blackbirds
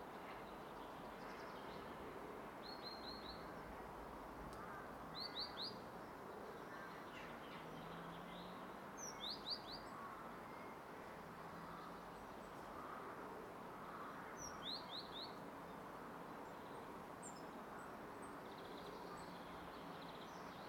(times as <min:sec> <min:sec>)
0:04.5 0:15.8